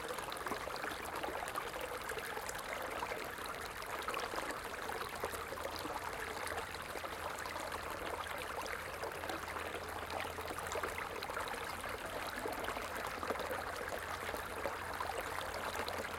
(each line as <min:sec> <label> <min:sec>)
0:00.0 small, shallow stream 0:16.1